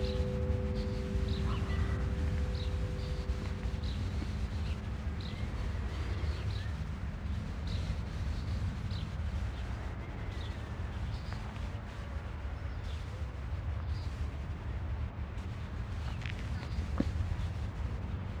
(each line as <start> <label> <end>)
0.0 distant cow and sheep sounds 5.7
0.0 church bell 6.5
0.0 wind movements in the nearby bushes 18.4